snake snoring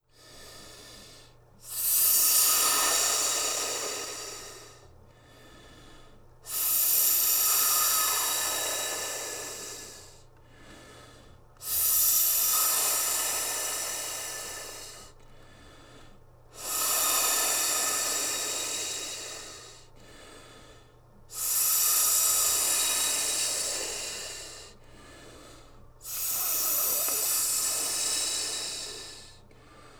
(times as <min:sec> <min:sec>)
0:01.7 0:04.8, 0:06.5 0:10.0, 0:11.6 0:15.0, 0:16.6 0:19.7, 0:21.4 0:24.7, 0:26.1 0:29.3